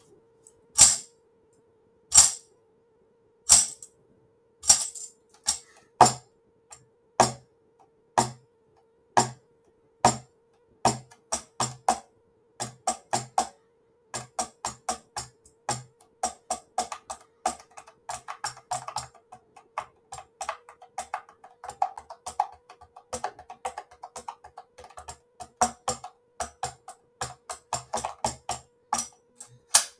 0.8s Quiet tambourine 1.1s
2.1s Quiet tambourine 2.4s
3.5s Quiet tambourine 3.9s
4.6s Quiet tambourine 6.2s

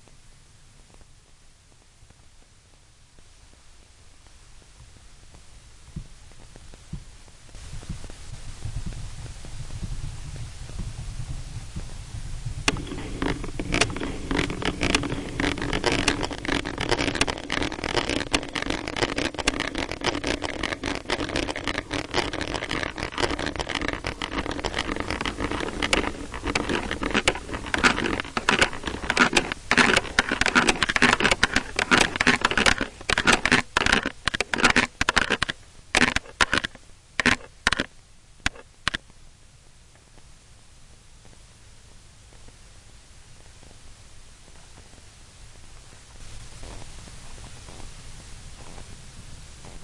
0.8s internal sound card noise 49.8s

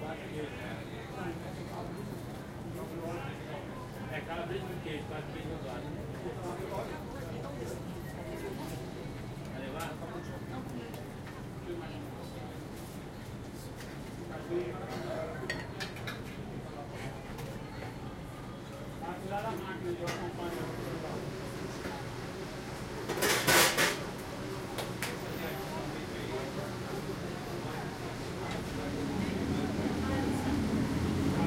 28.1s traffic 31.4s

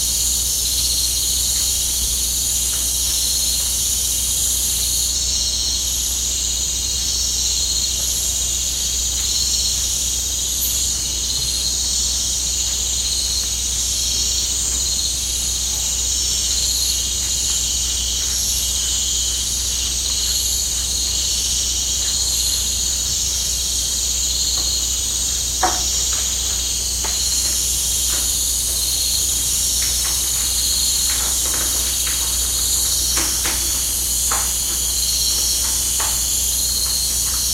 0.0s cicada 37.5s
0.0s crickets 37.5s
23.9s rain 37.5s

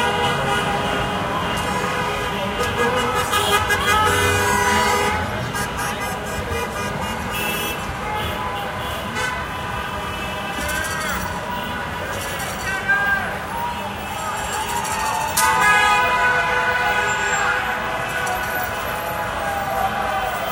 0.0s cars 20.5s
8.2s cheering 20.5s

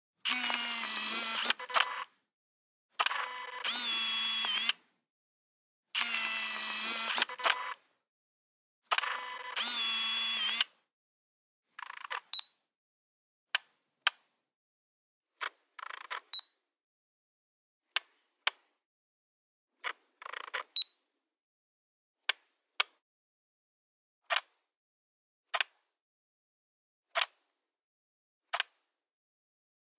0.2s zoom 2.1s
0.2s old Canon point 'n shoot camera turning on and off 2.2s
0.3s Shutter 2.1s
3.0s Shutter 4.8s
3.0s old Canon point 'n shoot camera turning on and off 4.9s
3.0s zoom 4.8s
6.0s Shutter 7.8s
6.0s zoom 7.8s
6.0s old Canon point 'n shoot camera turning on and off 7.8s
8.9s Shutter 10.8s
8.9s zoom 10.8s
8.9s old Canon point 'n shoot camera turning on and off 10.8s
11.8s old Canon point 'n shoot camera turning on and off 12.4s

